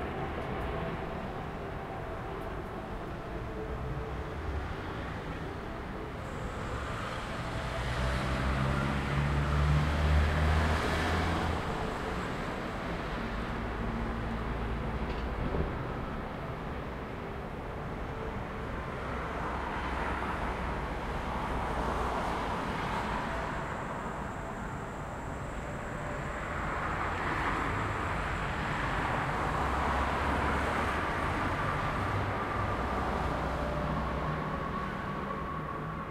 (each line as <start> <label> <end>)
0.0 street noises 36.1